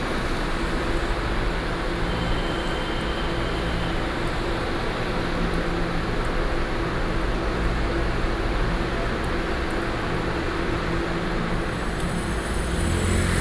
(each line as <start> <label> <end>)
0.0 Traveling by train 7.2
10.0 Traveling by train 13.4
10.4 Traffic Sound 13.4